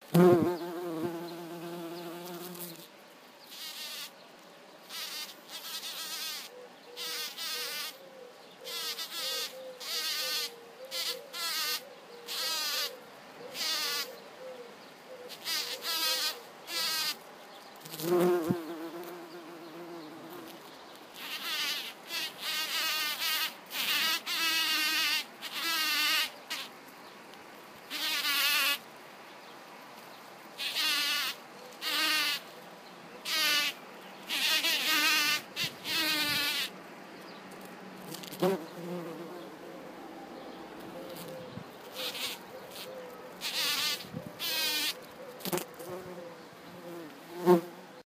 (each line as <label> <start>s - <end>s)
bumblebee foraging 0.0s - 4.2s
bumblebee foraging 4.8s - 8.0s
bumblebee foraging 8.7s - 14.1s
bumblebee foraging 15.3s - 17.2s
bumblebee foraging 17.8s - 26.7s
bumblebee foraging 30.6s - 32.5s
bumblebee foraging 33.2s - 36.8s
bumblebee foraging 37.5s - 39.9s
bumblebee foraging 40.7s - 48.0s